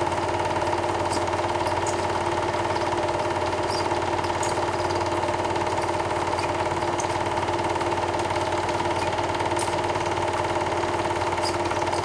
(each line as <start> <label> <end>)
0.0 Film projector 12.0
0.6 film rasping 7.6